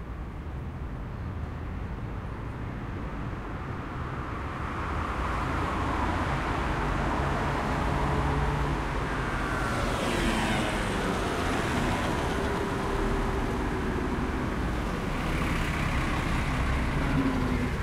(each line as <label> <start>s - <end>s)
cars 0.0s - 17.8s
tramways 0.0s - 17.8s
ambulance drive by 6.6s - 17.8s